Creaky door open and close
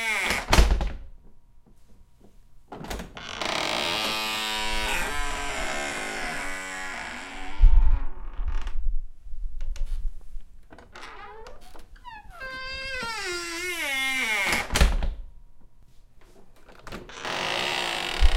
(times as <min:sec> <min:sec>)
0:00.0 0:01.0, 0:02.8 0:08.8, 0:10.7 0:15.2, 0:16.6 0:18.3